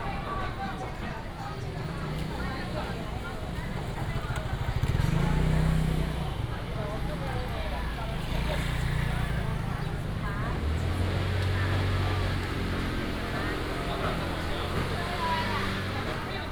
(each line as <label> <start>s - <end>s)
Traffic sound 0.0s - 16.5s
Walking through the market 0.0s - 16.5s
Many motorcycles 0.0s - 16.5s